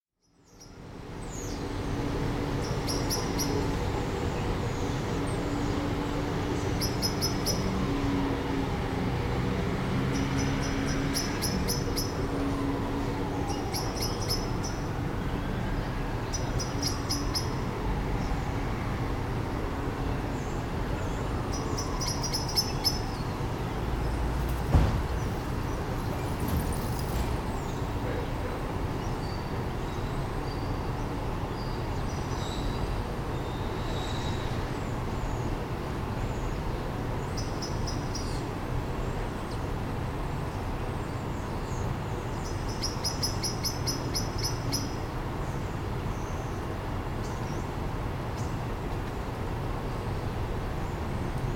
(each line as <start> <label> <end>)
0.3 bass of traffic 51.5